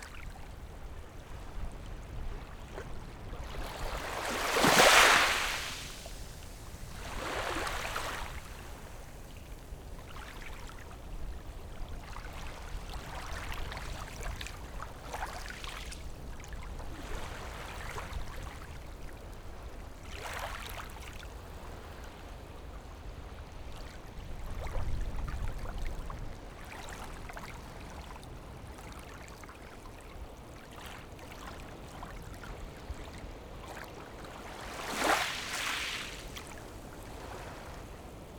Waves and tides 0:00.0 - 0:38.3

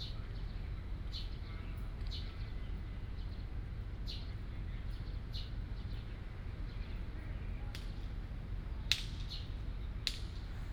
Birds sound 0:00.0 - 0:07.1

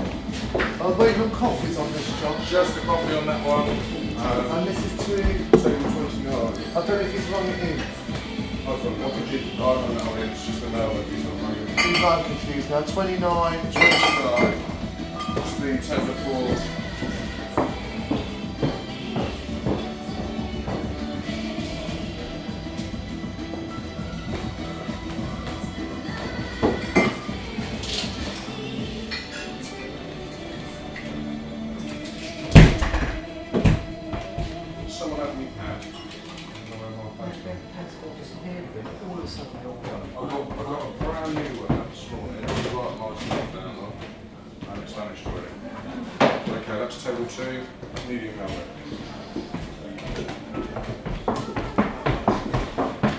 Waiters carrying food to dining tables 0:00.0 - 0:53.1
customers chatting 0:00.0 - 0:53.1
ordering drinks and food 0:00.6 - 0:18.2

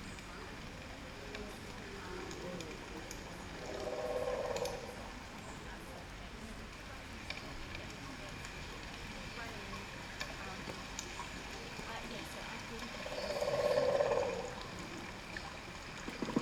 rain 0:00.0 - 0:16.4
voices 0:00.0 - 0:16.4
wind 0:00.0 - 0:16.4

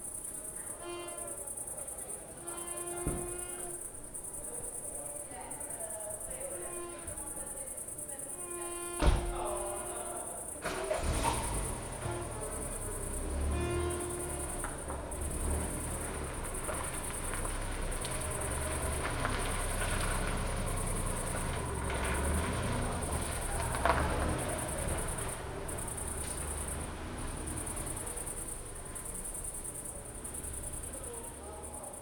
night cricket 0:00.0 - 0:32.0

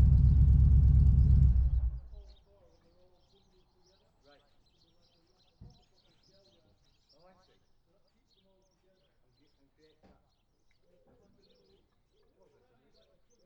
m'bike 0:00.0 - 0:02.2

